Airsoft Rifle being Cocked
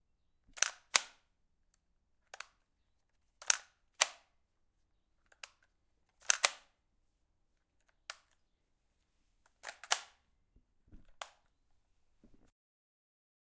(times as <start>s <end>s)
0.5s 1.2s, 3.4s 4.3s, 6.2s 6.7s, 9.6s 10.2s